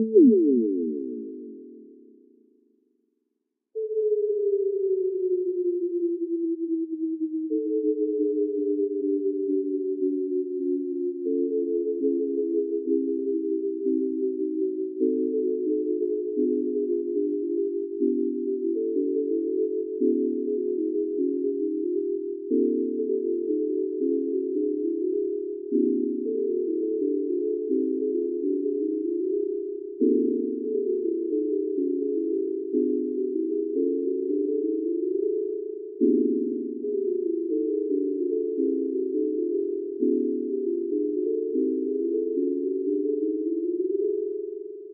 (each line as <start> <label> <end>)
0.0 microtonal pitches in one octave 1.9